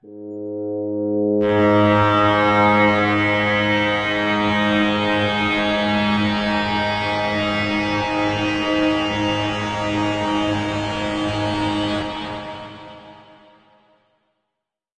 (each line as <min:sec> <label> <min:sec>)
0:00.0 Big full pad sound 0:13.6